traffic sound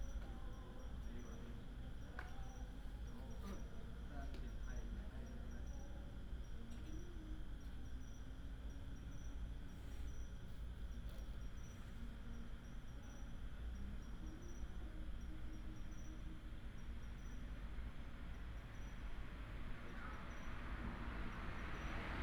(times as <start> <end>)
19.6 22.2